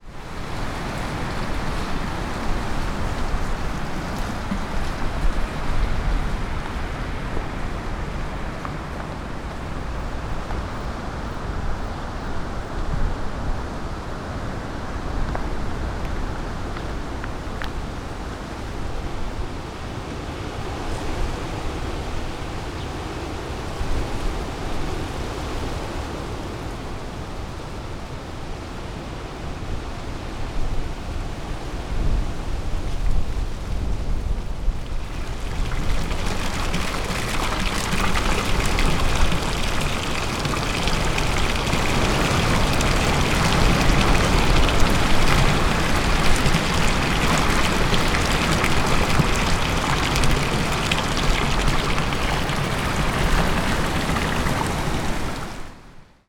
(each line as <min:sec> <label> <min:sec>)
0:00.0 wind 0:56.2